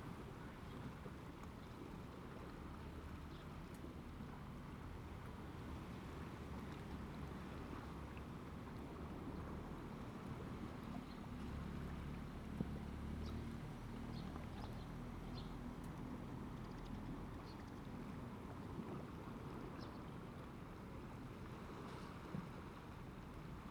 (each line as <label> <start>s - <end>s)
Waves and tides 0.0s - 23.7s